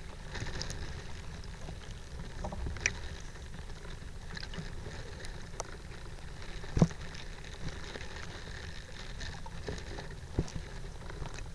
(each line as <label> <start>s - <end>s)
a bough in a river 0.0s - 11.5s